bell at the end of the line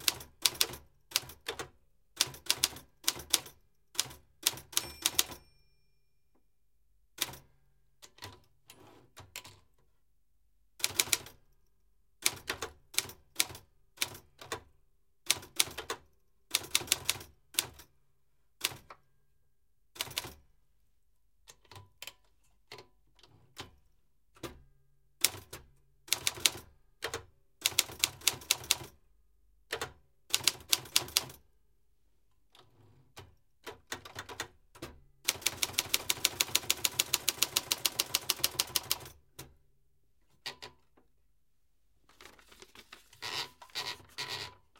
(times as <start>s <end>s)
4.8s 6.1s